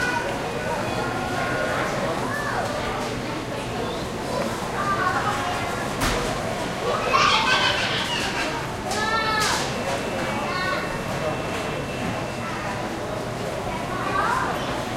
walla 0:00.0 - 0:14.9

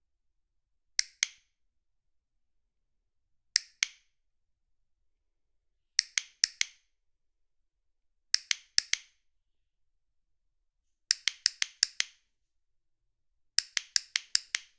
small hand held metal and plastic clicker 0:01.0 - 0:01.6
small hand held metal and plastic clicker 0:03.5 - 0:04.2
small hand held metal and plastic clicker 0:06.0 - 0:06.9
small hand held metal and plastic clicker 0:08.3 - 0:09.2
small hand held metal and plastic clicker 0:11.1 - 0:12.2
small hand held metal and plastic clicker 0:13.6 - 0:14.7

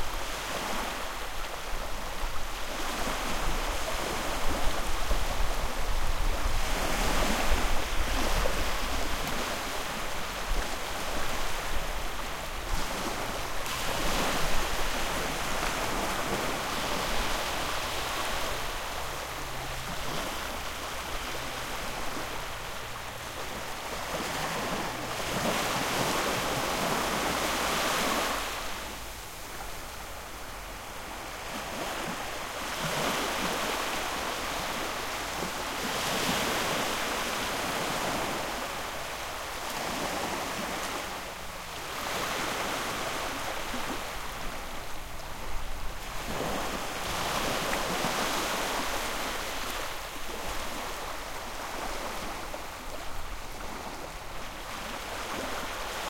the sea 0:00.0 - 0:56.0

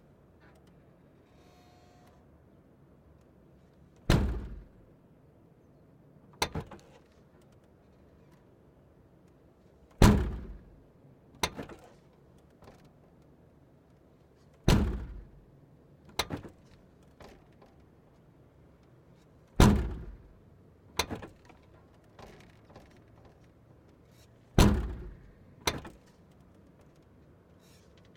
trunk being opened and closed 0:04.0 - 0:04.8
trunk being opened and closed 0:10.0 - 0:10.8
trunk being opened and closed 0:11.4 - 0:12.0
trunk being opened and closed 0:14.7 - 0:15.4
trunk being opened and closed 0:16.1 - 0:17.7
engine 0:19.1 - 0:28.1
trunk being opened and closed 0:19.6 - 0:20.3
trunk being opened and closed 0:21.0 - 0:21.6
trunk being opened and closed 0:24.6 - 0:26.1

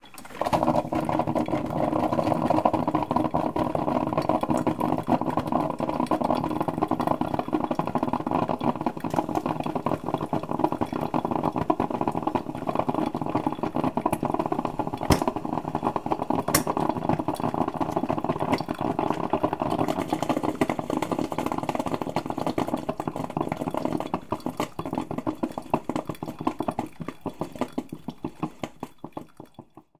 Coffee Maker 0:00.0 - 0:29.9

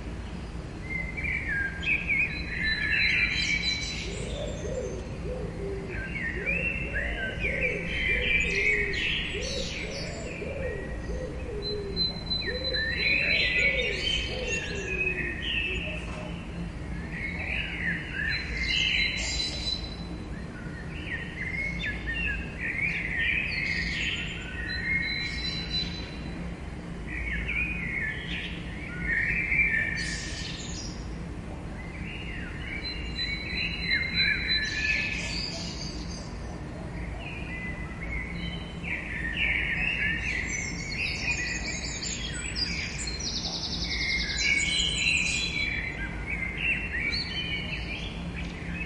Birds 0:00.0 - 0:48.8

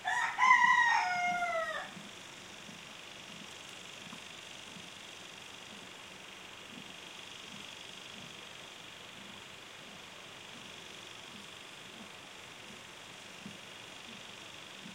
Rooster crowings 0:00.0 - 0:02.0
hen 0:00.0 - 0:02.1
home lawn sprinkler 0:00.0 - 0:14.9

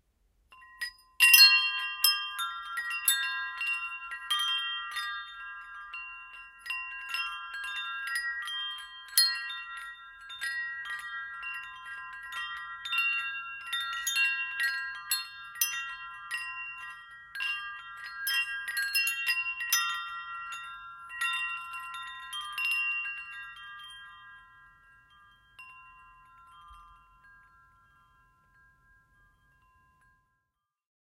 Wind chimes being obnoxiously loud 0:00.6 - 0:30.6

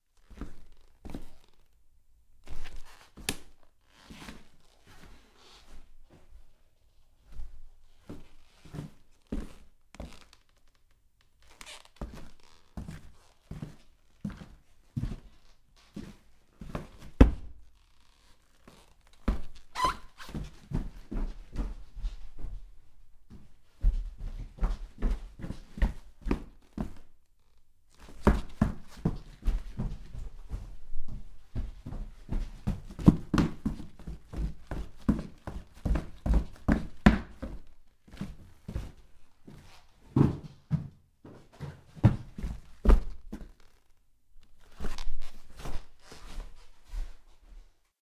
SQUEAKY military combat boots 0:00.2 - 0:01.8
SQUEAKY military combat boots 0:02.4 - 0:05.8
SQUEAKY military combat boots 0:08.1 - 0:21.7
SQUEAKY military combat boots 0:26.3 - 0:30.5
SQUEAKY military combat boots 0:41.4 - 0:47.5

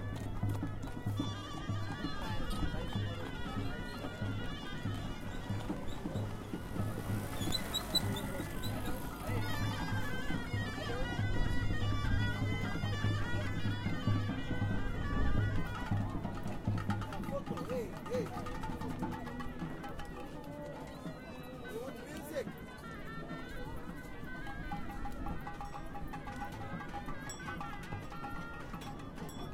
swarmed with people 0:00.0 - 0:14.9
musicians 0:00.0 - 0:29.5
snake charmers 0:00.4 - 0:17.1

